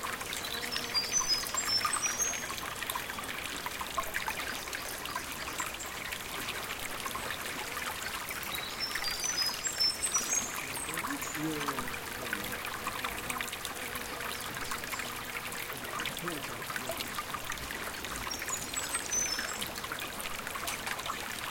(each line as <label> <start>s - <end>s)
flowing stream 0.0s - 21.5s
birds in the background 0.3s - 3.4s
birds in the background 8.0s - 12.6s
birds in the background 18.0s - 19.7s